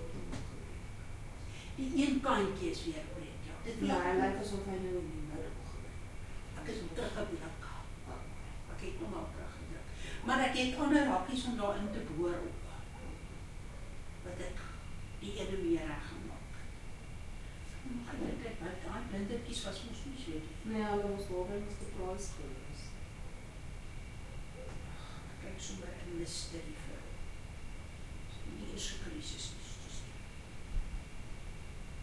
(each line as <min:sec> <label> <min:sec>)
0:01.5 Afrikaans Voices 0:16.7